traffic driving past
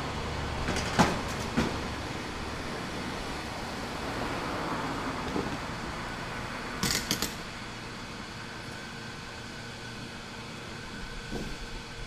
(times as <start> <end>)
0.0 8.5